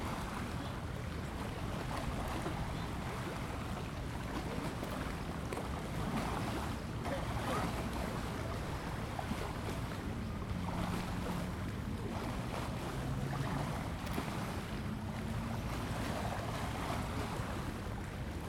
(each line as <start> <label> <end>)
0.0 the lake 18.4